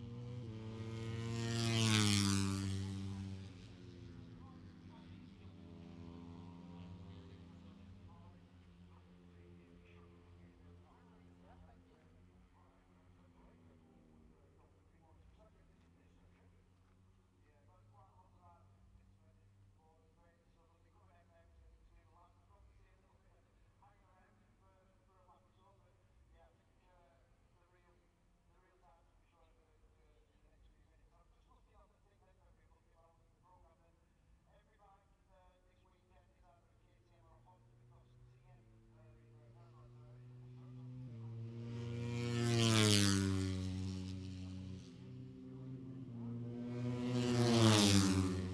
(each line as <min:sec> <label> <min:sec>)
0:00.0 motorcycle grand prix 0:22.7
0:36.6 motorcycle grand prix 0:48.5